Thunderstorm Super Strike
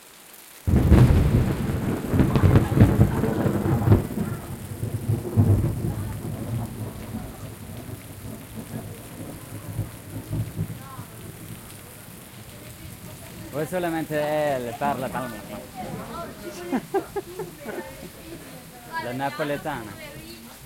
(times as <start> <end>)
0.7 11.4